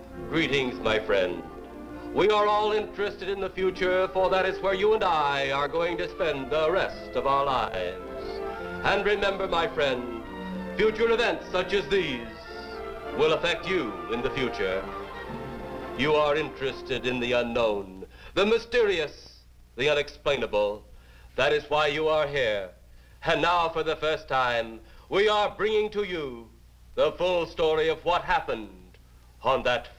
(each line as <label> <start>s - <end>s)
film music 0.0s - 17.6s
Opening monologue 0.0s - 29.9s